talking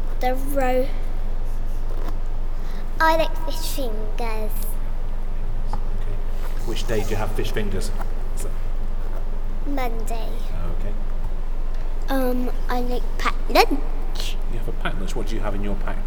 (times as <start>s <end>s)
0.2s 1.0s, 2.7s 4.7s, 9.7s 10.5s, 12.1s 16.0s